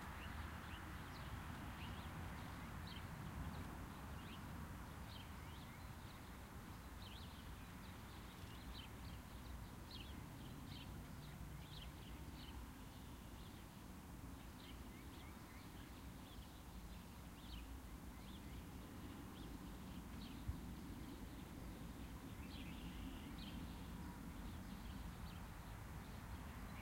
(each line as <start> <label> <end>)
0.0 Robins and sparrows 26.8